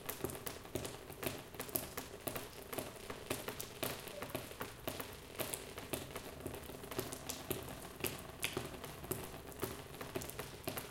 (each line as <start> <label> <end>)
0.0 water drops keep falling on a plastic shelter 10.9